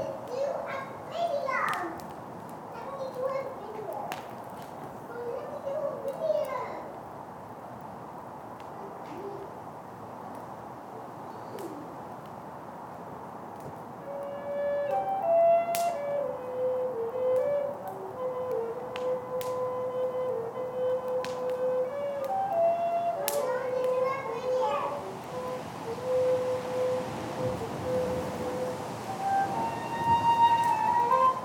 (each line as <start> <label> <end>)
0.0 Kids play 7.1
0.0 fire burns 31.4
0.0 wind blows 31.4
8.6 Kids play 9.7
23.1 Kids play 25.4